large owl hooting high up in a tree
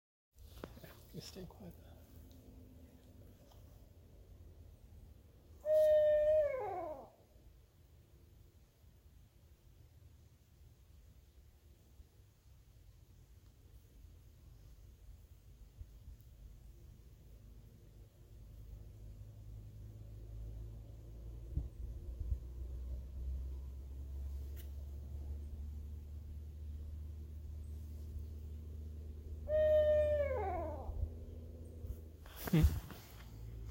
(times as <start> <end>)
5.4 7.6, 27.1 33.1